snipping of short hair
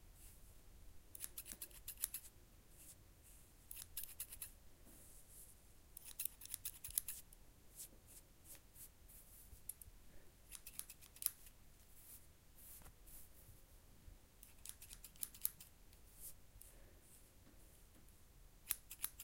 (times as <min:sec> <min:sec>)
0:01.2 0:02.3, 0:03.7 0:04.5, 0:06.0 0:07.2, 0:10.5 0:11.5, 0:14.4 0:15.7, 0:18.7 0:19.2